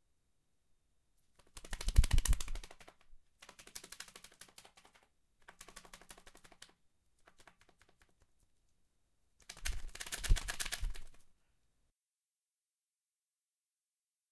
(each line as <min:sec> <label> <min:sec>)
0:01.5 Birds flapping wings 0:03.0